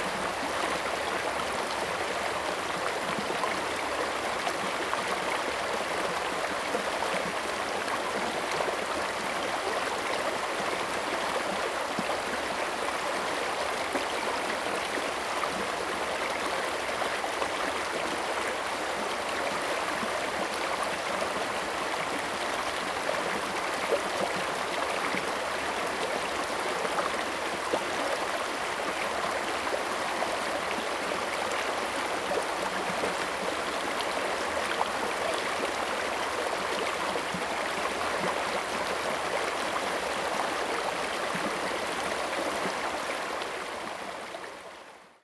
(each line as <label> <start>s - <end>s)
Brook 0.0s - 45.2s